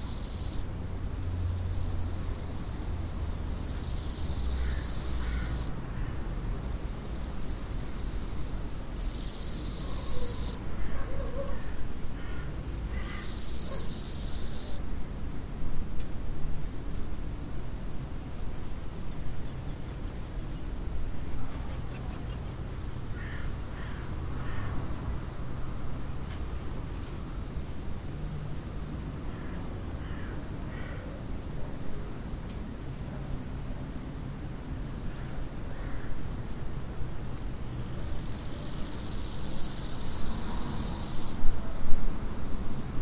Three bugs chatting 0.0 - 5.7
Three bugs chatting 6.3 - 10.6
dogs in the background 10.9 - 11.8
Three bugs chatting 12.7 - 14.8
Three bugs chatting 37.8 - 41.4

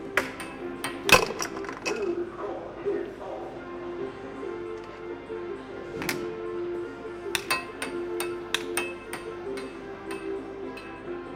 distant music 0.0 - 11.3
puck being hit from side to side 0.2 - 2.1
puck being hit from side to side 7.3 - 10.4

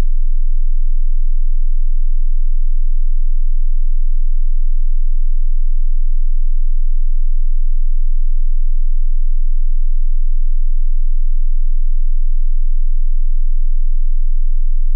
20Hz sine wave 0.0 - 14.9

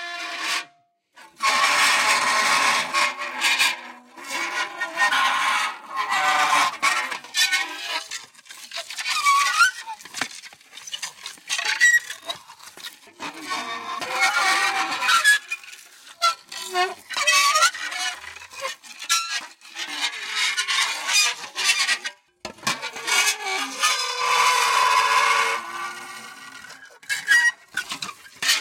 Dry Ice coming in contact with various metals 4.4 - 22.1
Dry Ice coming in contact with various metals 23.0 - 28.6

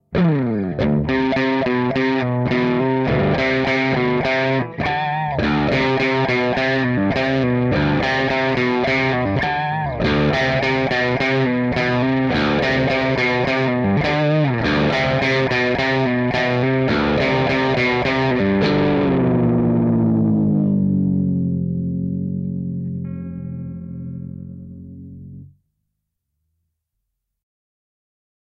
mild distortion tone, changing from C to D 0.0 - 25.5

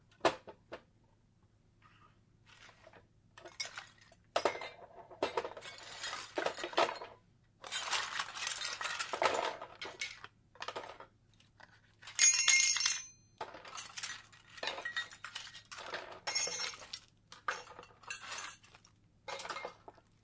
Putting various small items in a box 4.4 - 20.2

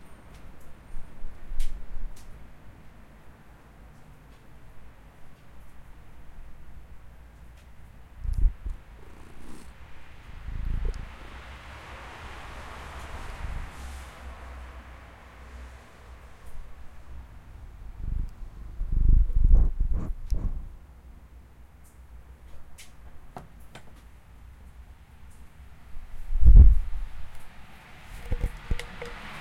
rainy street 0.0 - 19.5
cabs and busses passing 8.7 - 17.9
rainy street 20.5 - 29.4
cabs and busses passing 27.4 - 29.4

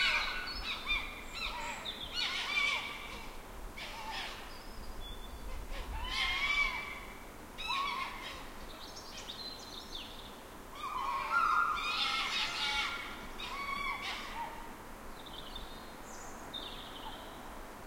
Foxes crying 0.0 - 4.5
Foxes crying 5.4 - 8.6
Foxes crying 10.8 - 14.7

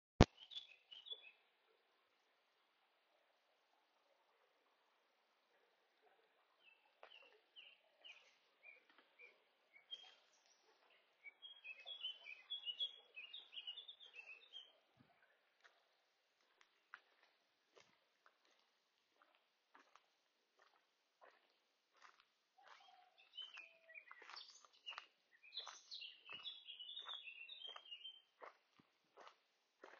Birds chattering to each other 11.3 - 14.8
Birds chattering to each other 22.6 - 28.2

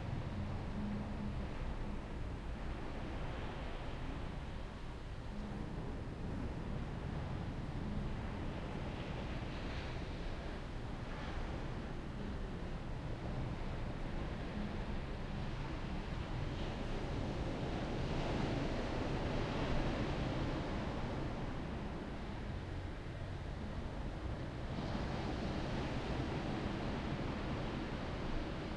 waves 0.0 - 28.7

